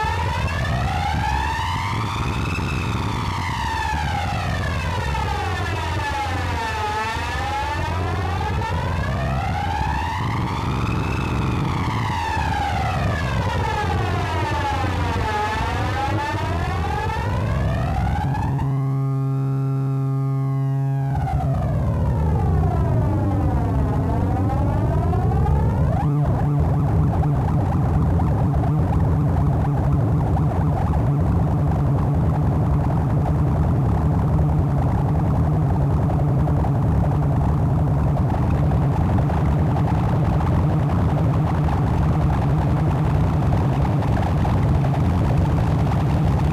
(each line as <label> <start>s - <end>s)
feedback loop 6.2s - 46.5s